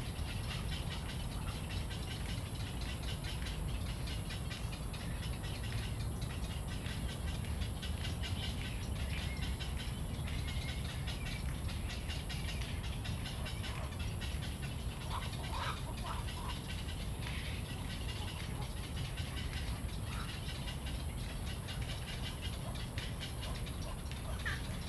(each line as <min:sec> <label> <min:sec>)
0:00.1 Bird calls 0:24.8